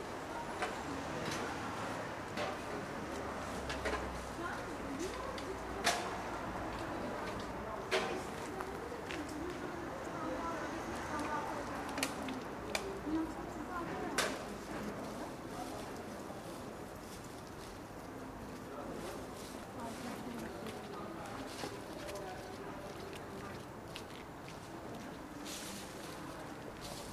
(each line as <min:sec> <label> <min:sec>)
0:00.1 road sweepers 0:09.4
0:24.6 road sweepers 0:27.1